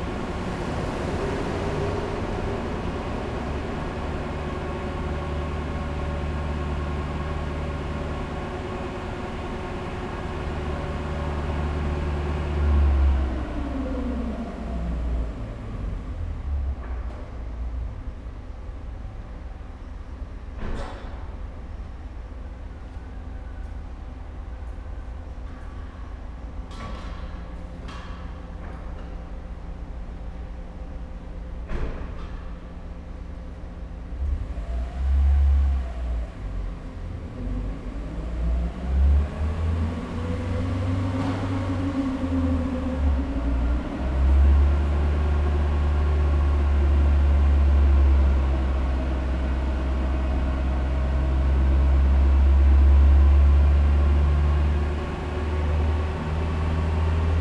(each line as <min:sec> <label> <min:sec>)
0:00.0 vehicles 0:57.4